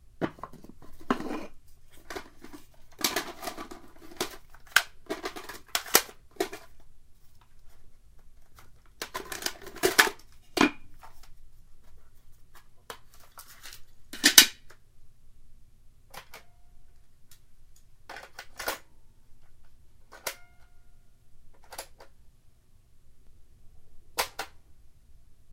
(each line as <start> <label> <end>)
0.0 went through the cassette tapes 15.2
15.9 went through the cassette tapes 22.6
23.2 went through the cassette tapes 24.8